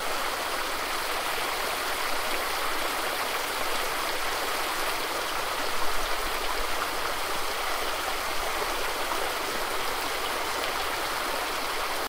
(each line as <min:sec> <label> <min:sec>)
0:00.0 Cascading Water 0:12.0